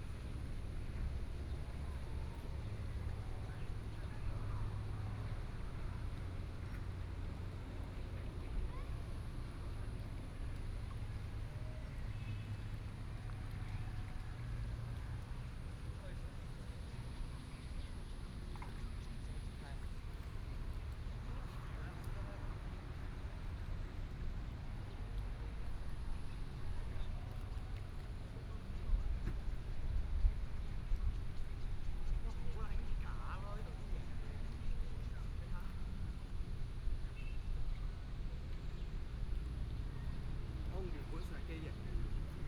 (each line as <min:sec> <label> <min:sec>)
0:00.0 Yacht on the lake 0:42.4